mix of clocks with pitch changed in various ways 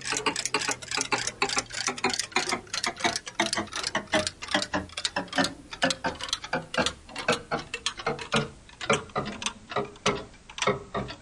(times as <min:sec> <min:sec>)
0:00.0 0:09.0